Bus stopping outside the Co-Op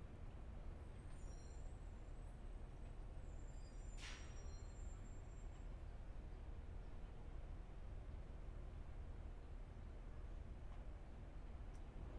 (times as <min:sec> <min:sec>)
0:00.8 0:06.4